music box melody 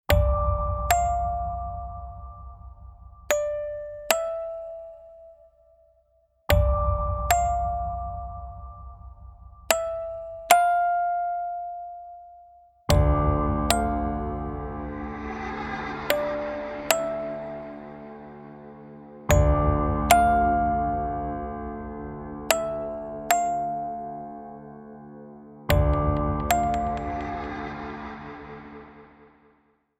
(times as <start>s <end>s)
0.6s 5.6s, 6.5s 13.1s, 13.7s 18.1s, 19.3s 24.6s, 25.7s 27.8s